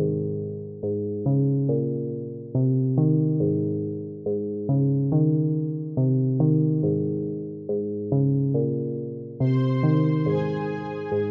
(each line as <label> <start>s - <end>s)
music 0.0s - 11.3s